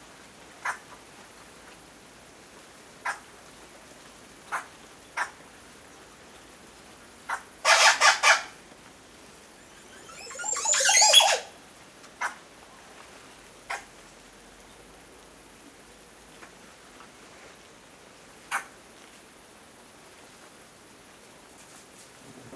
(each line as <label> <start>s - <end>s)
Montezuma oropendola bird call 9.7s - 11.5s